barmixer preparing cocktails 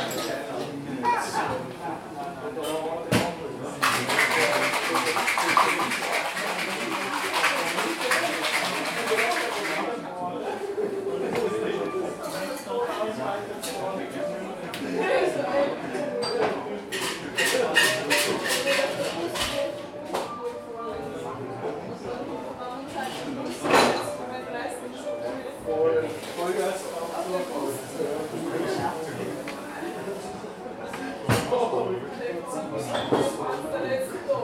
0:03.8 0:09.9

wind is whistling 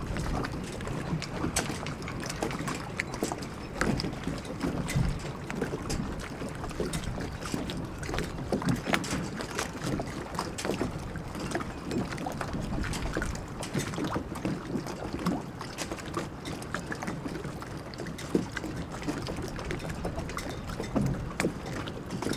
0:00.0 0:14.6

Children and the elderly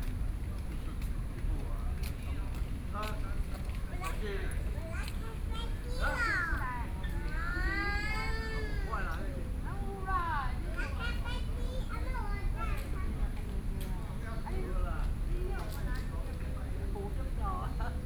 0:04.0 0:13.4

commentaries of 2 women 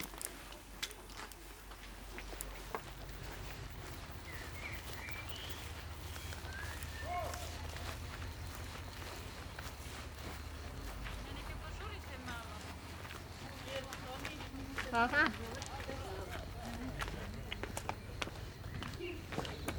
0:11.1 0:17.3

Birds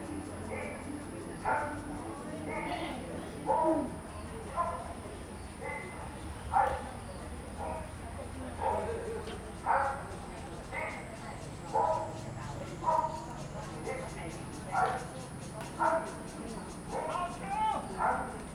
0:08.6 0:18.5

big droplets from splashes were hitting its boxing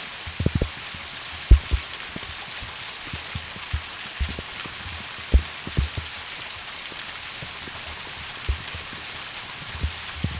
0:01.4 0:02.4, 0:03.2 0:06.1, 0:08.5 0:09.0

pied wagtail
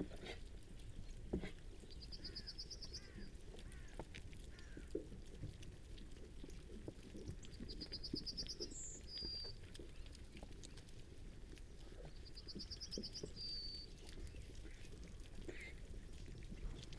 0:09.2 0:16.9

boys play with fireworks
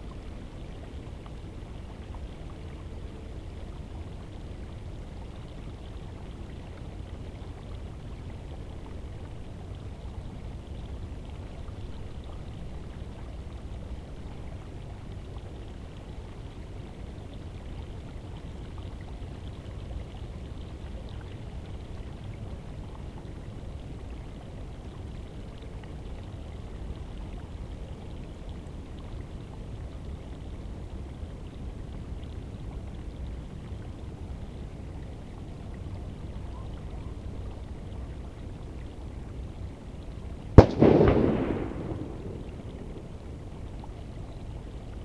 0:40.6 0:43.3

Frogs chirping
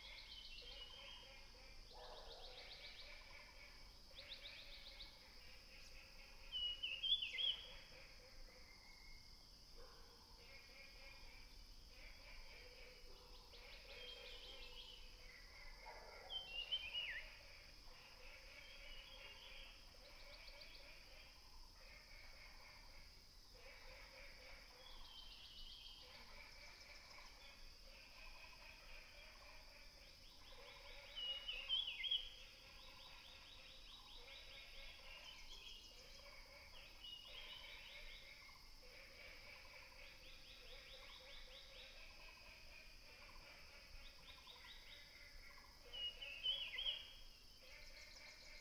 0:10.7 0:48.6

